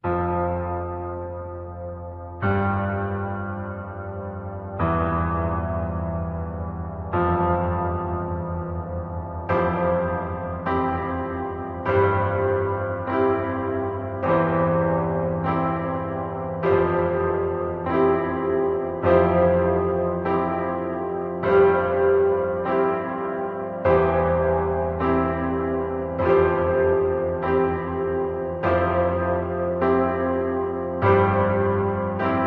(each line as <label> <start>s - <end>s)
Casio synth’s piano 0.0s - 32.4s